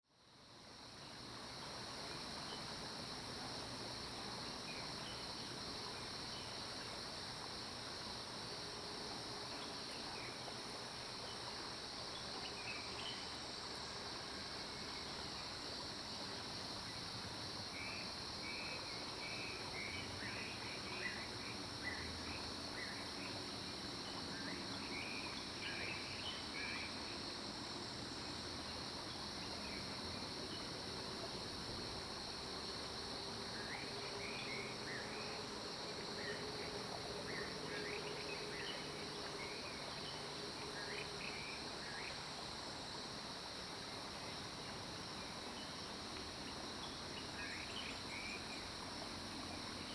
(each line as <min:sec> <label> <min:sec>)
0:00.1 Stream 0:49.9